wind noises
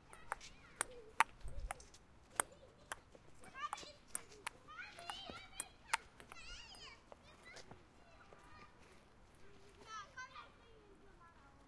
0.0s 2.3s

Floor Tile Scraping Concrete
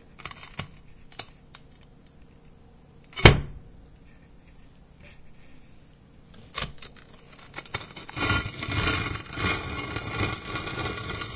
6.5s 11.3s

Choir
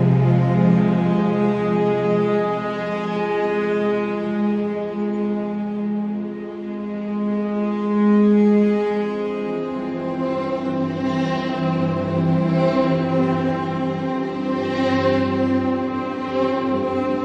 9.6s 17.2s

